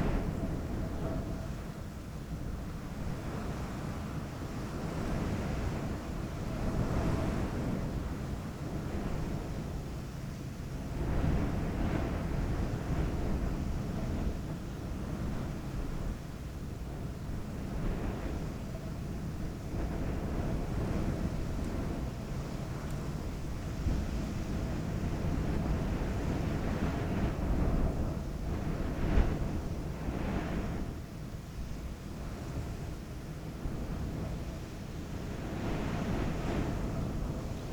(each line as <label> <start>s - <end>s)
sand storm 10.8s - 37.7s